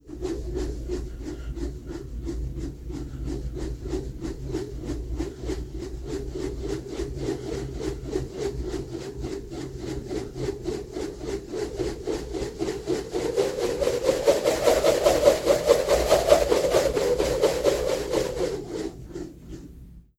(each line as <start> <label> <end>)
0.0 Rope twirling swishes 20.0